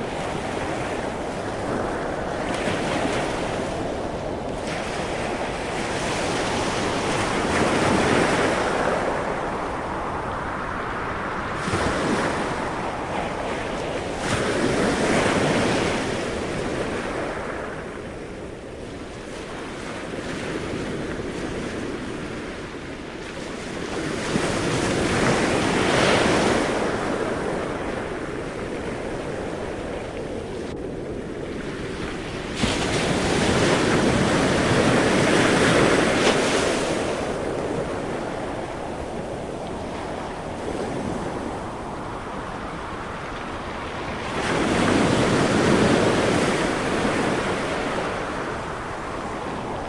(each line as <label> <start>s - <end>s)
howling wind 0.0s - 49.8s
waves crashing on beach 0.0s - 49.8s